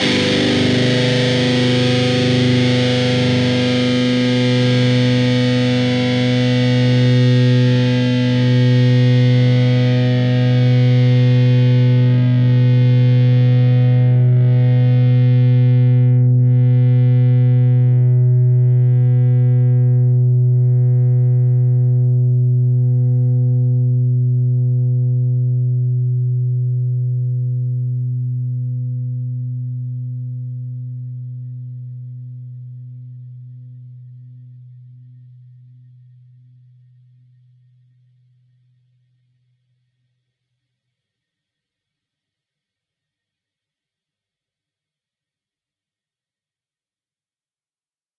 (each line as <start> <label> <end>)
0.0 distorted guitar 36.2